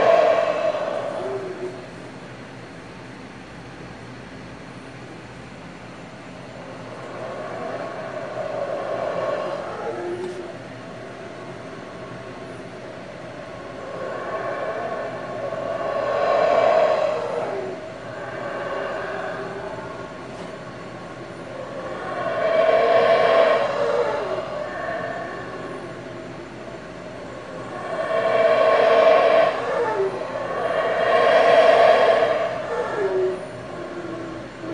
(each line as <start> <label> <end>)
0.0 howler monkeys call 2.4
6.4 howler monkeys call 34.7